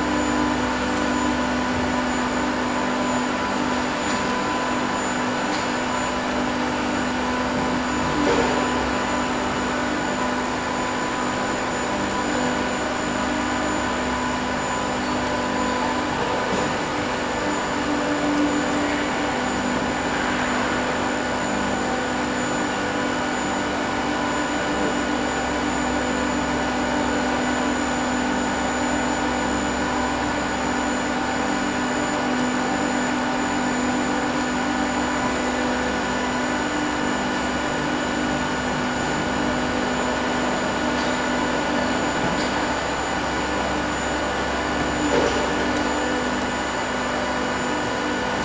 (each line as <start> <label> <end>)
0.0 Industrial sized 3D printers work night and day 48.4